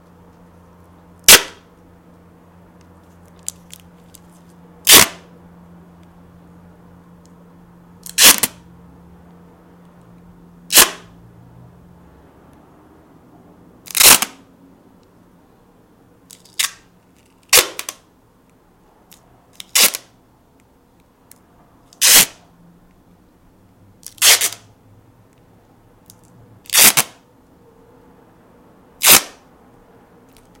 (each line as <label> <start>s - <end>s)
duct tape ripping 1.3s - 1.6s
duct tape ripping 3.2s - 5.3s
duct tape ripping 8.0s - 8.6s
duct tape ripping 10.7s - 11.1s
duct tape ripping 13.8s - 14.4s
duct tape ripping 16.3s - 18.0s
duct tape ripping 19.1s - 20.2s
duct tape ripping 21.9s - 22.4s
duct tape ripping 24.0s - 24.7s
duct tape ripping 26.1s - 27.2s
duct tape ripping 29.0s - 29.4s